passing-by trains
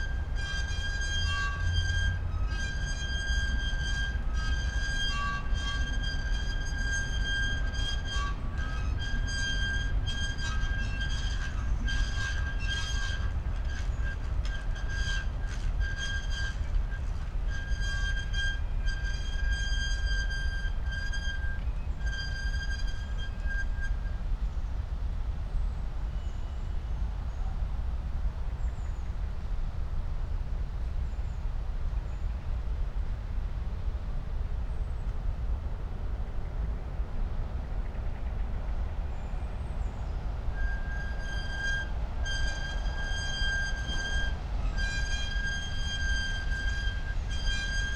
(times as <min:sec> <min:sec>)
0:32.0 0:47.9